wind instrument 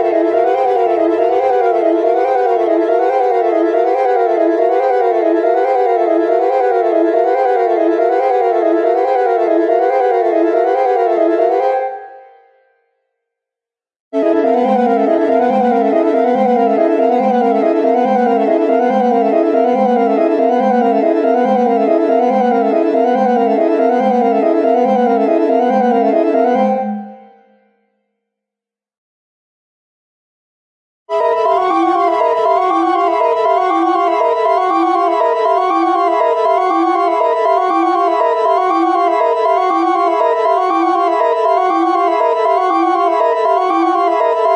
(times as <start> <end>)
31.1 44.5